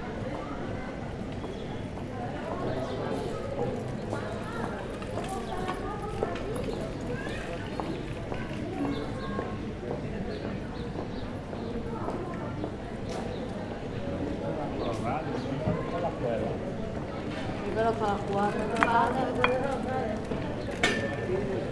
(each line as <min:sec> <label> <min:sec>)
0:00.0 people passing by 0:21.7